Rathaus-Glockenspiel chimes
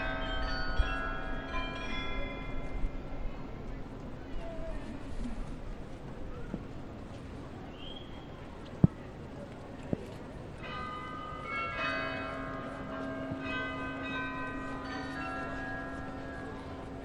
0:00.0 0:02.9

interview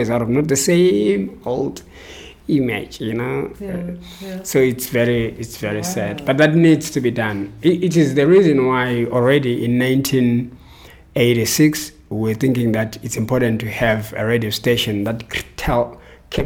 0:02.4 0:10.4

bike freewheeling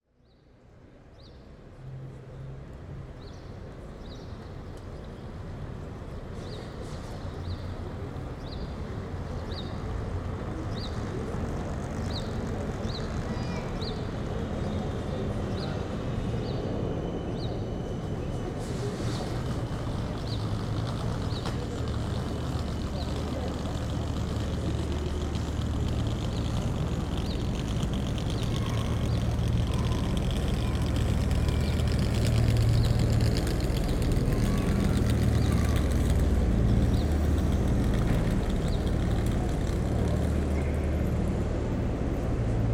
0:19.2 0:40.9

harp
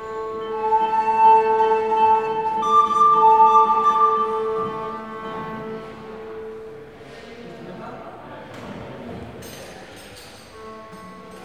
0:00.0 0:06.9

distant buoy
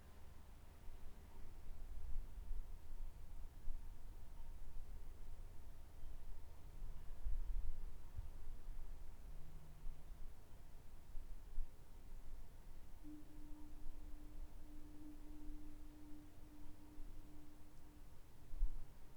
0:13.0 0:18.8

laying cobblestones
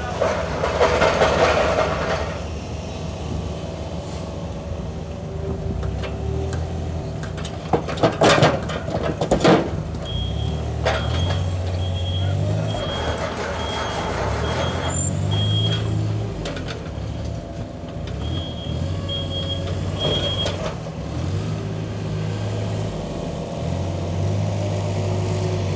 0:04.3 0:20.6

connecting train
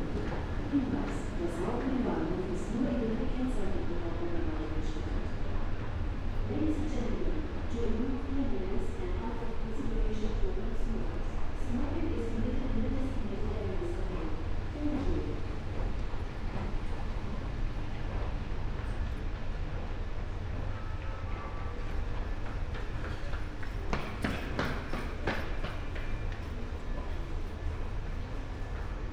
0:13.4 0:29.1

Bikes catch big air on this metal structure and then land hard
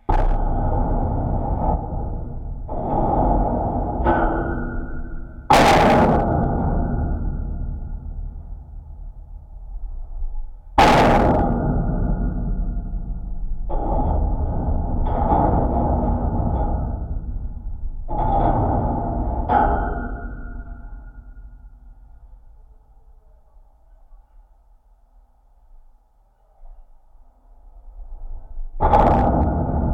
0:10.8 0:21.7

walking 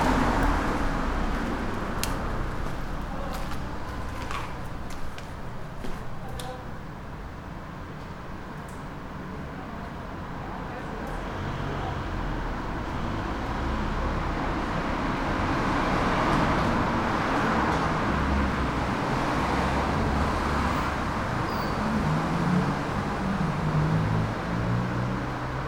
0:00.1 0:06.6

